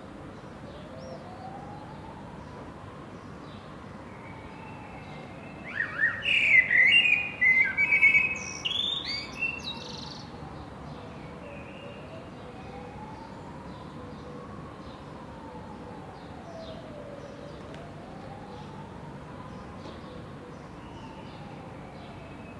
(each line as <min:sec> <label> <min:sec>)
0:00.0 city noise in background 0:22.5